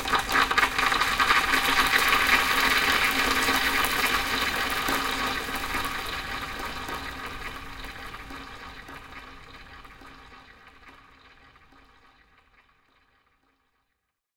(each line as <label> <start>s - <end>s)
dumping gravel down sink 0.0s - 9.0s